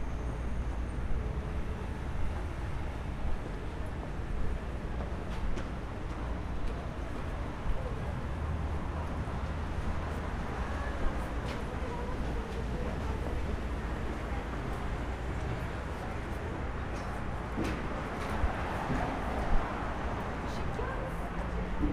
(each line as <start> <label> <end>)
0.0 traffic 21.9
10.5 people 19.5
20.4 people 21.9